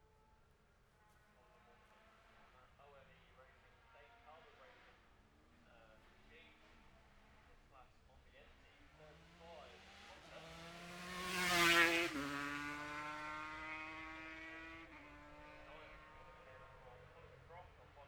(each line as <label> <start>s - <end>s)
lightweight and 650 twins qualifying 13.4s - 18.0s